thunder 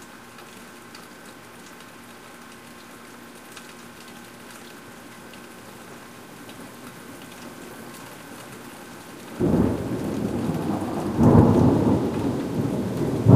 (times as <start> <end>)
9.4 13.3